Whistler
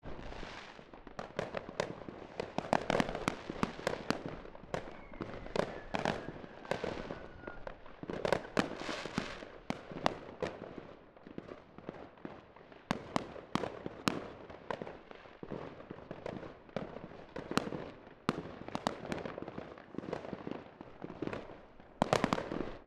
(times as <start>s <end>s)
4.8s 7.7s